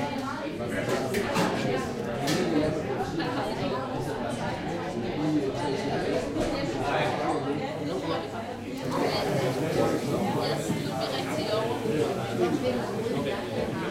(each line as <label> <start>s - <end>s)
people talking in danish 0.0s - 13.9s